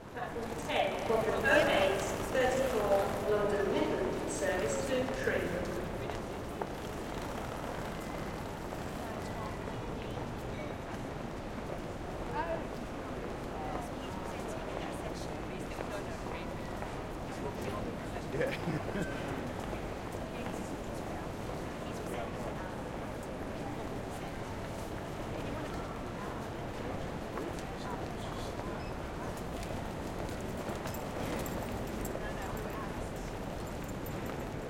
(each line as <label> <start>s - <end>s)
crowd 0.0s - 34.6s
trains 0.0s - 34.6s